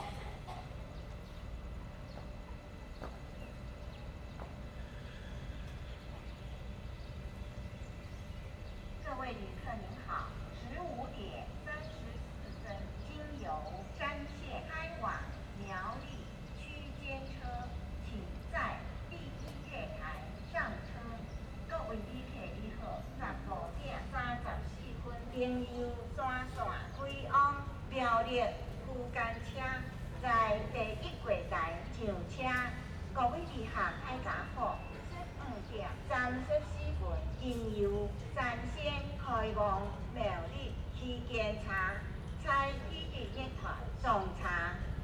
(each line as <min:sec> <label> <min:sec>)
0:00.1 Birds singing 0:45.0